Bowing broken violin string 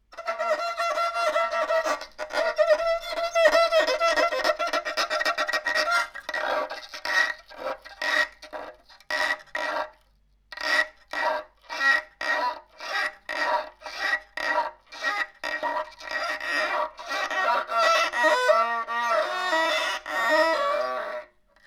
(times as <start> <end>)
0.1 6.6